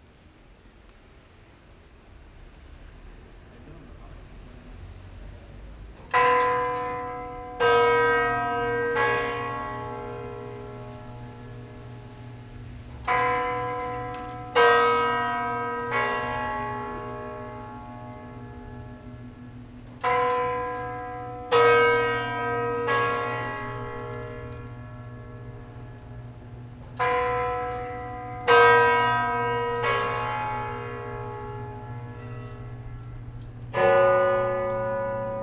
6.1s cathedral bells ringing ten 35.4s

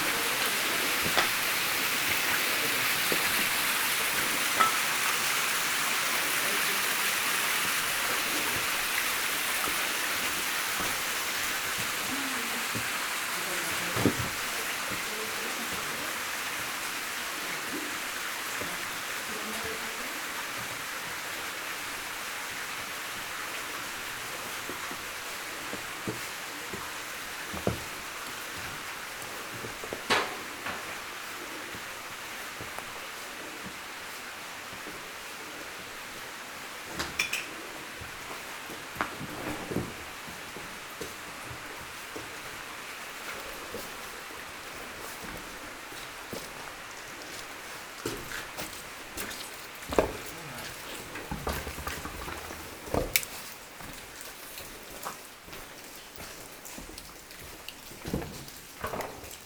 0.0s water flows everywhere 59.4s
22.6s I'm quietly walking, climbing the shaft 59.4s

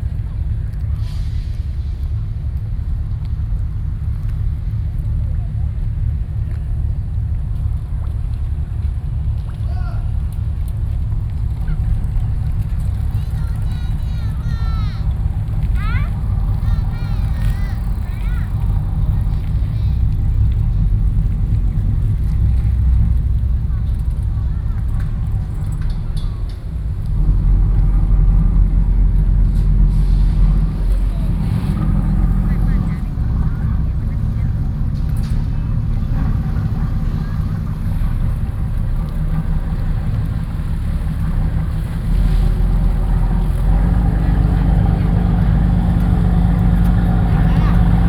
0.0s Fishing boats 48.0s

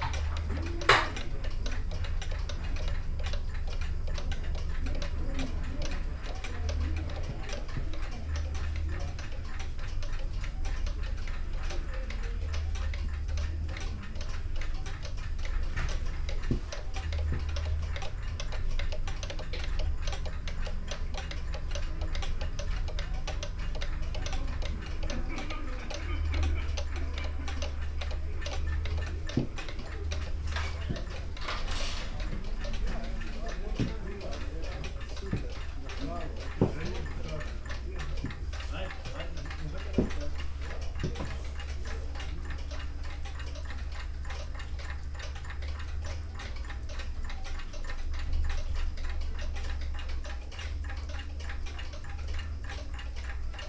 0.0s old clocks 53.6s

